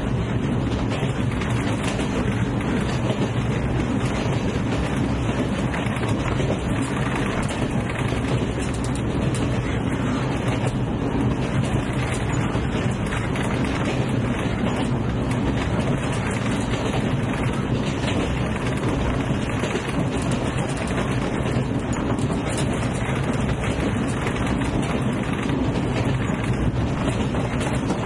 rattling train 0.0 - 28.0

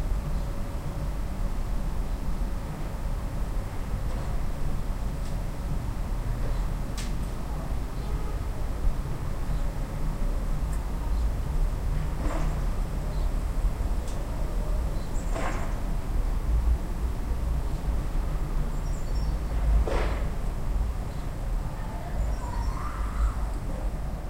Sparrows were out singing in nearby trees 7.9 - 8.4
Sparrows were out singing in nearby trees 9.4 - 9.9
Sparrows were out singing in nearby trees 13.0 - 13.8
Sparrows were out singing in nearby trees 14.7 - 15.8
Sparrows were out singing in nearby trees 17.6 - 19.6
Sparrows were out singing in nearby trees 21.0 - 23.5

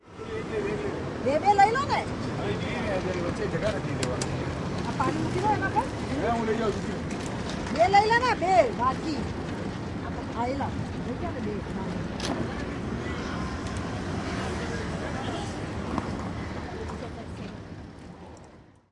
Tourists 0.0 - 18.9
traffic 0.0 - 18.9

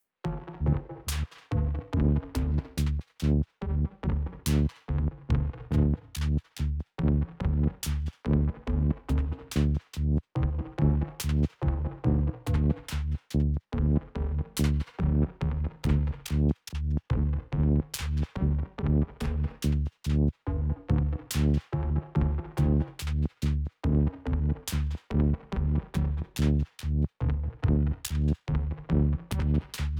digital rhythm 0.3 - 4.7
synthbass 0.3 - 29.9
digital rhythm 10.4 - 13.2
digital rhythm 13.8 - 26.7

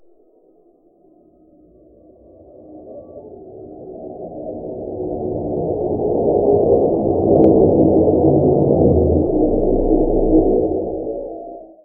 flying-by spaceship 6.1 - 11.8

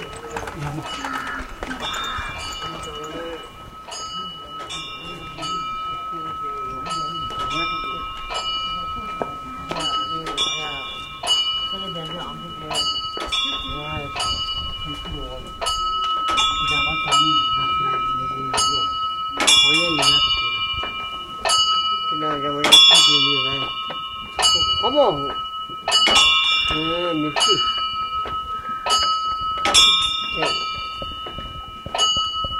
locals speaking 0.0 - 32.3
Buddhist Chants 0.0 - 32.5
spin of prayer wheels 0.0 - 32.5

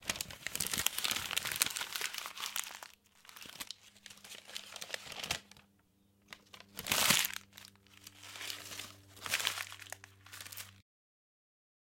paper being crumbled 0.0 - 10.8

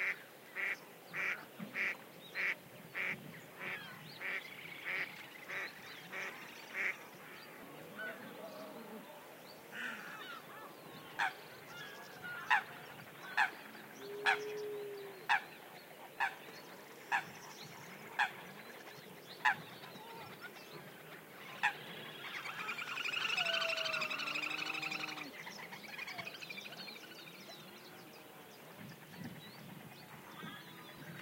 birds 0.0 - 31.2

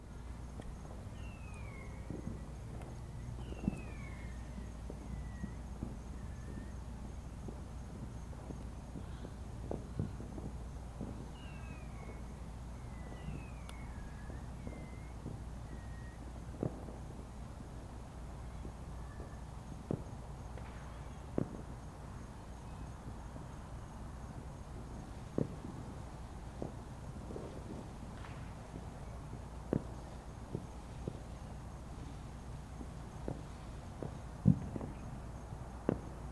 fireworks 0.0 - 36.3

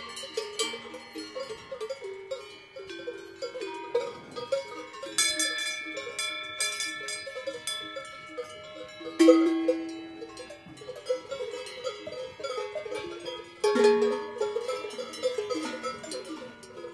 bells 0.0 - 16.9
cows 0.0 - 16.9

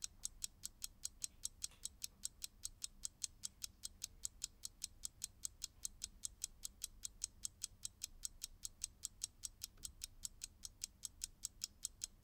Mechanical alarm clock is ticking 0.0 - 12.2

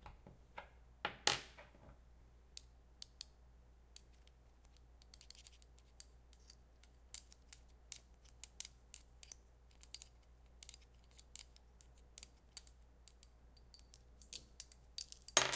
Dropping small coins on one another 12.2 - 15.5
Two rings clinking against one another 12.2 - 15.5
Hitting a small coin against a ring 15.0 - 15.5
Spinning a small coin on a wooden table 15.3 - 15.5

